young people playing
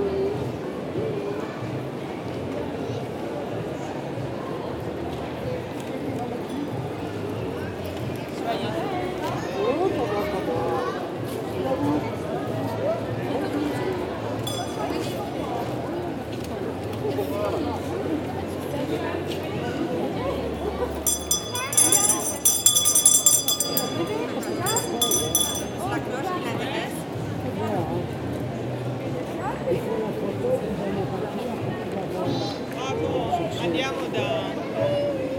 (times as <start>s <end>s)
14.5s 15.8s, 20.9s 26.0s